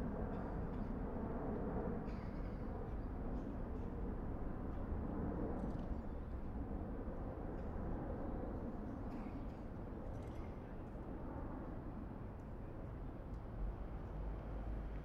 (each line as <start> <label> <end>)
9.1 street ambience 15.0